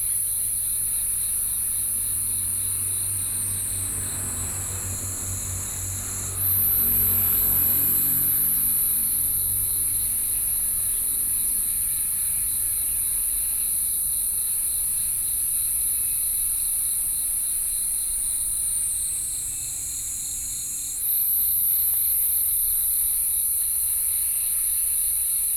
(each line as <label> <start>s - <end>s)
Insect sounds 0.0s - 25.5s
traffic sound 1.1s - 15.2s